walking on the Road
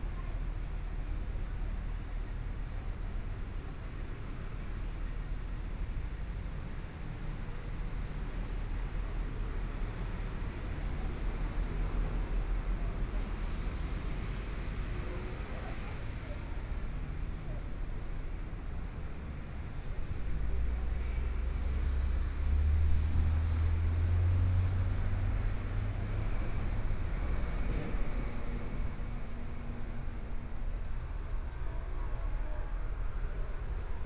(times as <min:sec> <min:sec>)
0:10.3 0:34.0